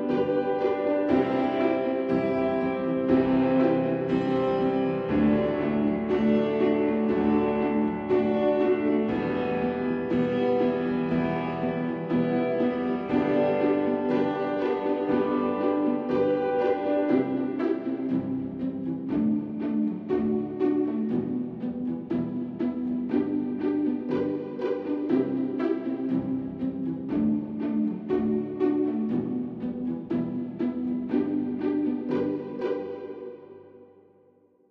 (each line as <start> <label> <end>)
0.0 Piano 19.9
0.0 Pizzicato and Staccato strings 33.9